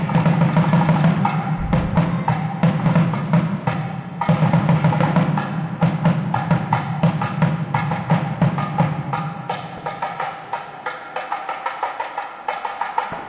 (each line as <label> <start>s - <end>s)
crowd 0.0s - 13.2s